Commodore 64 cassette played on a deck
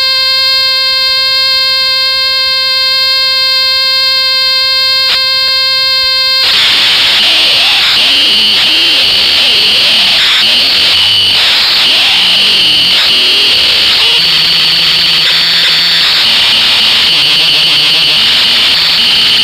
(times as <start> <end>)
6.4 19.4